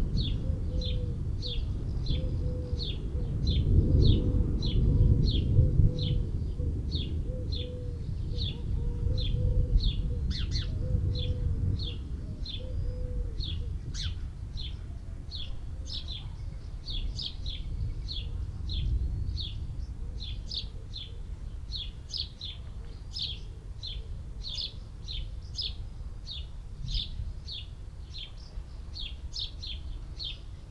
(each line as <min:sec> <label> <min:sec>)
0:00.0 collared dove 0:25.4
0:00.1 wood pigeon 0:14.9